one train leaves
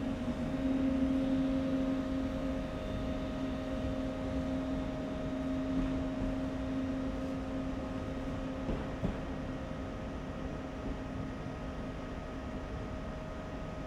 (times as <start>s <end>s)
0.0s 10.2s